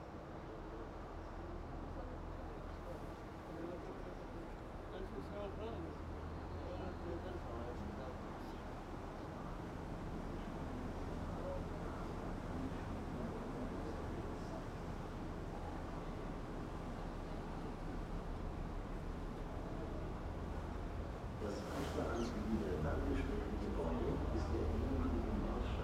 0.0s Boat Ride On Spree 25.8s

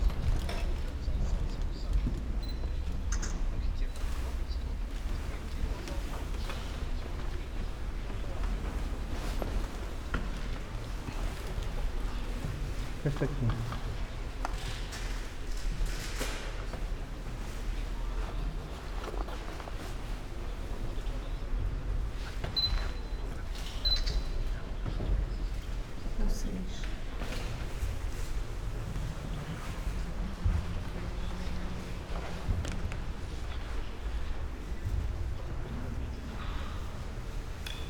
0.0s slow walk through rooms with different kind of wooden floors and parquet 23.8s
0.0s aroundgoers and their steps 37.8s
0.5s whisperings 9.0s
24.4s slow walk through rooms with different kind of wooden floors and parquet 37.8s

